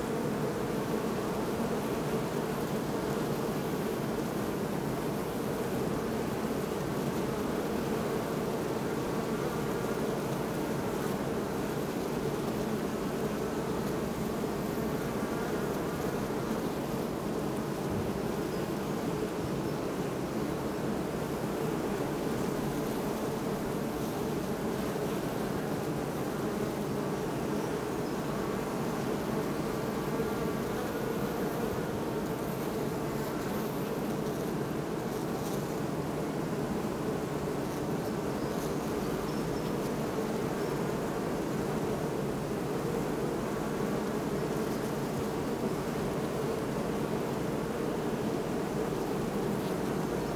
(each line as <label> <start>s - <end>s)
hum of hundreds of bees 0.0s - 50.3s